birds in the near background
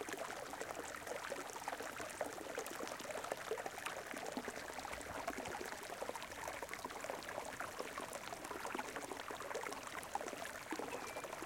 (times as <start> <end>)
10.8 11.4